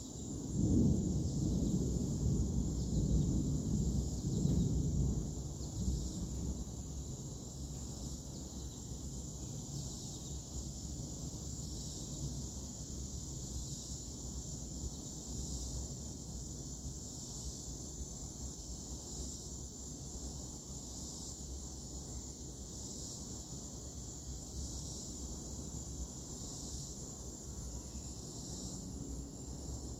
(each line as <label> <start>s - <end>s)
medium distant bugs 0.0s - 29.9s
thunder 0.3s - 6.9s